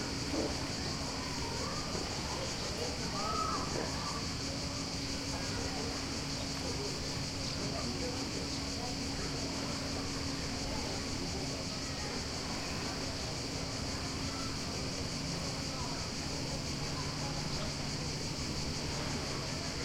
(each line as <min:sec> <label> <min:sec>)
0:00.0 beach is teeming with (mostly very young) bathers 0:19.8
0:00.0 crickets are chirping 0:19.8
0:18.8 waves 0:19.8